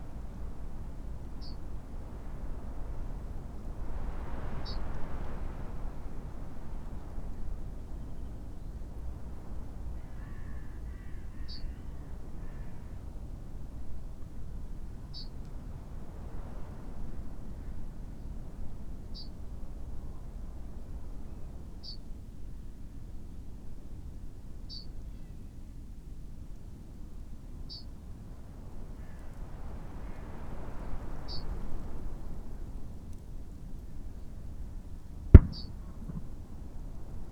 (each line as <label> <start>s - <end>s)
wind 0.0s - 37.3s
crow 10.0s - 13.0s
yellowhammer 35.4s - 36.2s
skylark 35.4s - 36.3s